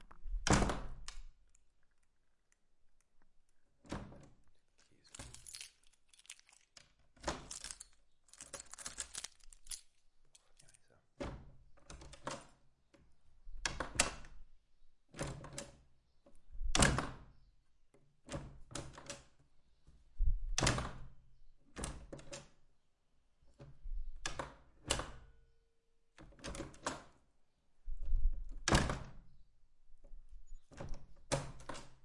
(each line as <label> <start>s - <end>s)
handful of keys 4.8s - 10.9s